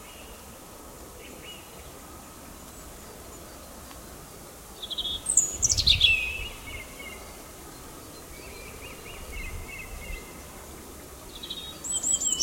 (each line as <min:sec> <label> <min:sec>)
0:01.1 European robin 0:12.4